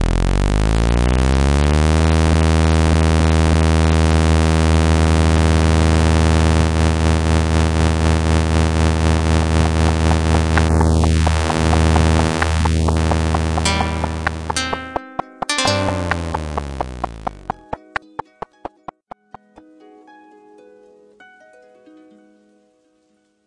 click track 9.6 - 19.5
pluck sounds 9.7 - 20.0
harp sounds 13.6 - 22.4

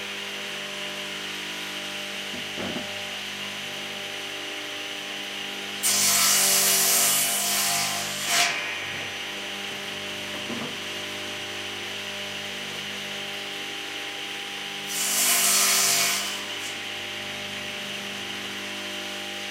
Bench Saw Crosscutting 5.8 - 11.1

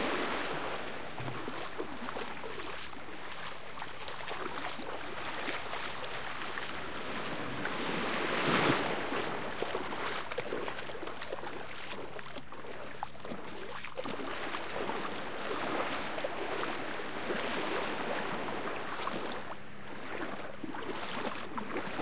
waves 0.0 - 22.0

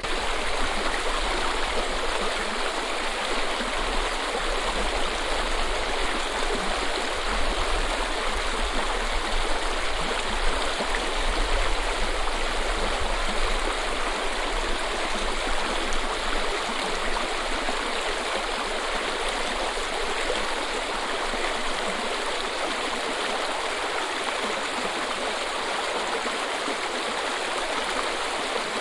Mountainstream 0.0 - 28.8

